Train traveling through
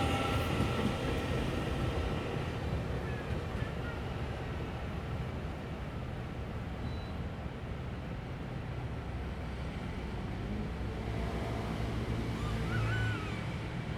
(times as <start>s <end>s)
0.0s 5.9s